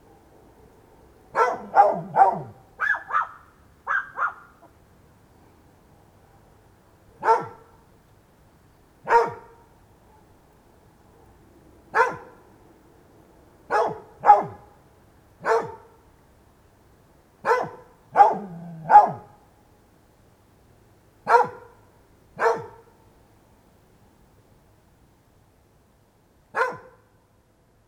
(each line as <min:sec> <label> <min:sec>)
0:01.3 Dog barking 0:04.7
0:07.2 Dog barking 0:07.8
0:09.0 Dog barking 0:10.3
0:11.9 Dog barking 0:12.4
0:13.7 Dog barking 0:14.7
0:15.4 Dog barking 0:16.0
0:17.4 Dog barking 0:19.4
0:21.3 Dog barking 0:21.8
0:22.4 Dog barking 0:22.9
0:26.6 Dog barking 0:27.1